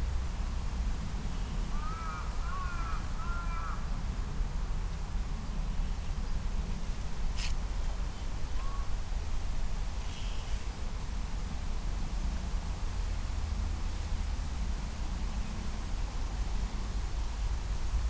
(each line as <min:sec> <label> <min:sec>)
0:00.0 traffic sounds 0:18.0
0:01.7 crow 0:03.8
0:08.5 pheasant 0:08.9
0:08.6 crow 0:08.9
0:10.0 Japanese bush warbler 0:10.8